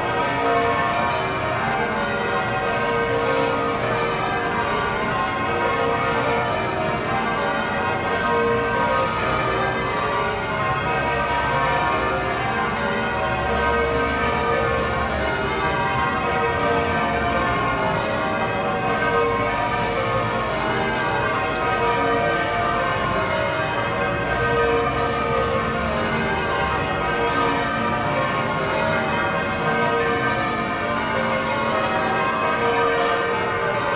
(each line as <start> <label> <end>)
0.0 Bells 33.9